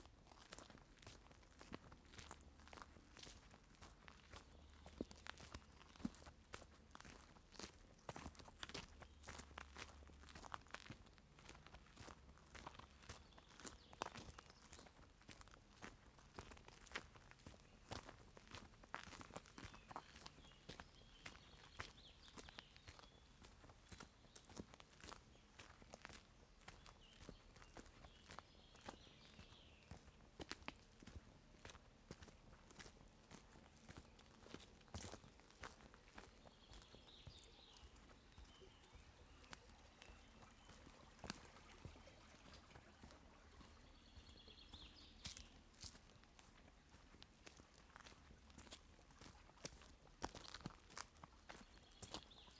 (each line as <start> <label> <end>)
0.0 Walk Down A Footpath 52.5